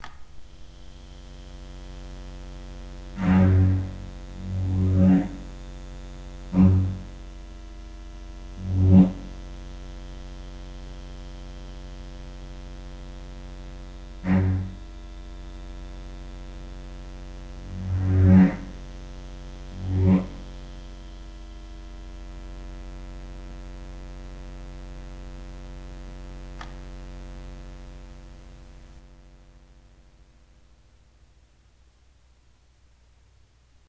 background hum is a low pitched square wave 0.0 - 33.8
light saber 3.2 - 5.5
lightsaber is switched on 3.2 - 5.4
light saber 6.5 - 7.2
light saber 8.5 - 9.4
light saber 14.2 - 14.8
light saber 17.6 - 18.8
light saber 19.7 - 20.5

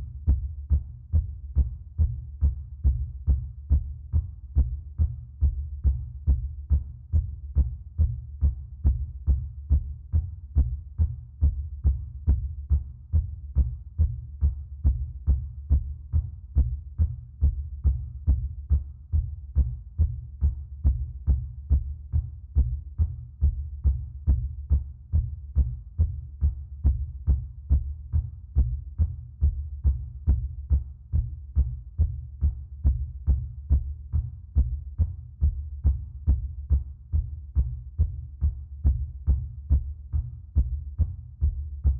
heartbeat 0.0 - 41.9

